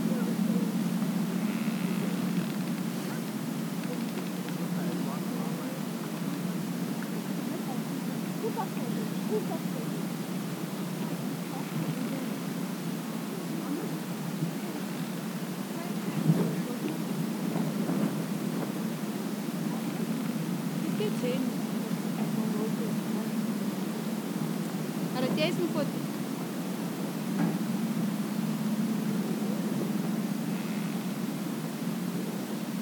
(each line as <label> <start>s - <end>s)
Tourists 0.0s - 32.8s
wind 0.0s - 32.8s
bush crackling noises 0.9s - 7.6s